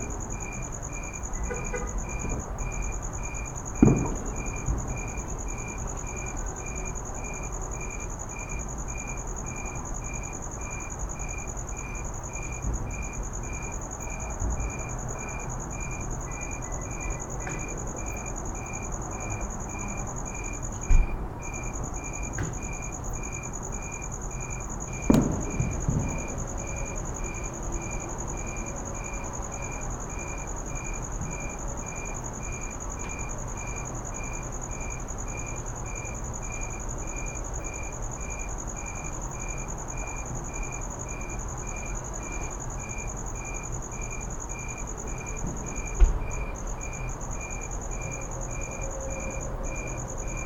firework ambience from afar 0:01.5 - 0:06.9
firework ambience from afar 0:20.8 - 0:28.5

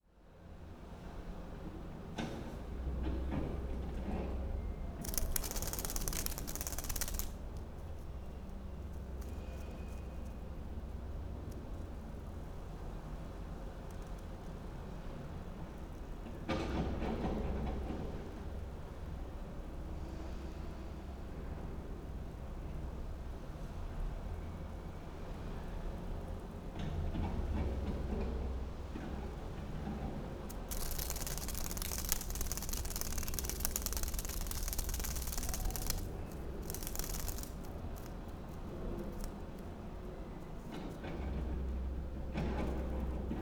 half dead butterfly at window 0:05.0 - 0:08.1
half dead butterfly at window 0:30.5 - 0:39.8

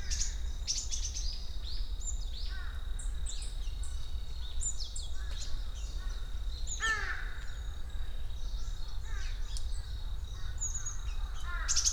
activity of many smaller forest birds 0:00.0 - 0:11.9
mountain crows...their caws echo among the forest 0:02.4 - 0:03.2
mountain crows...their caws echo among the forest 0:05.1 - 0:08.2
mountain crows...their caws echo among the forest 0:09.0 - 0:11.9

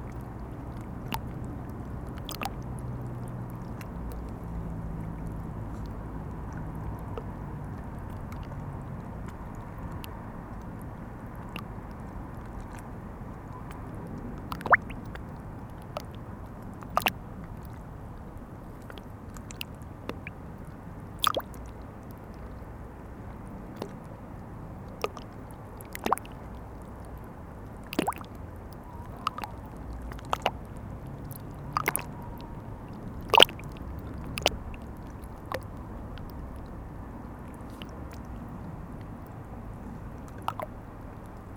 Seine river flowing 0:27.9 - 0:38.6

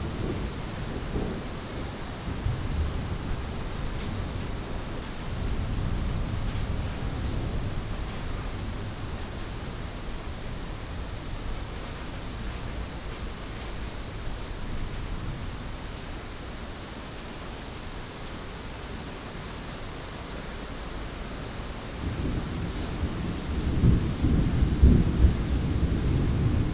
Thunderstorms 0:00.0 - 0:15.7
Thunderstorms 0:21.6 - 0:26.7

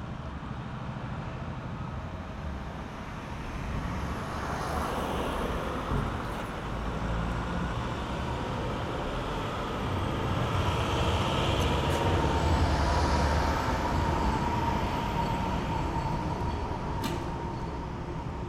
straßenbahnen 0:00.0 - 0:18.4

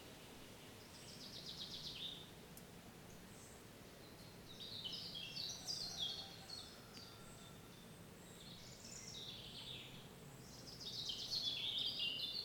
birds 0:00.0 - 0:12.4

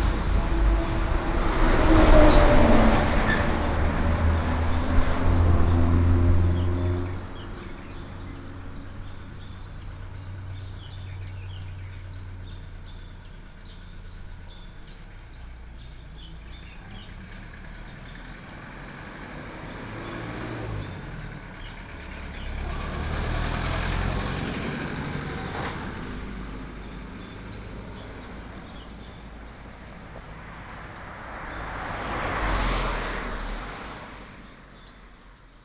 Traffic sound 0:00.0 - 0:35.6

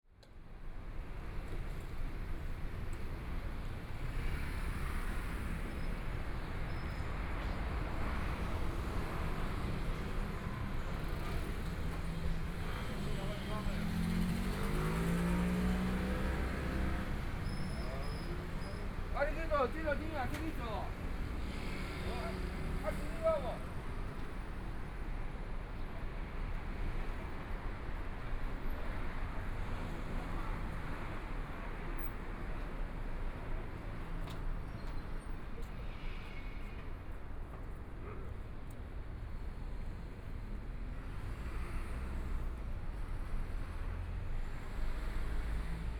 Pedestrian 0:00.2 - 0:45.9
Traffic Sound 0:00.3 - 0:45.9

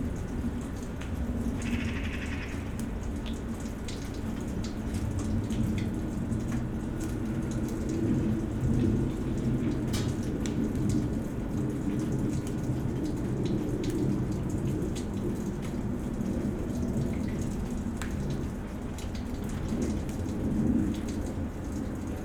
crows 0:01.6 - 0:02.8

